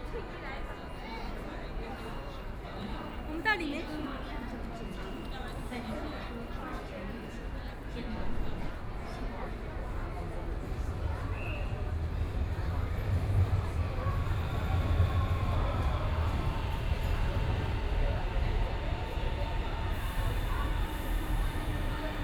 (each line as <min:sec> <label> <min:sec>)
0:04.2 Trains traveling through 0:22.2
0:08.2 Train stops 0:22.2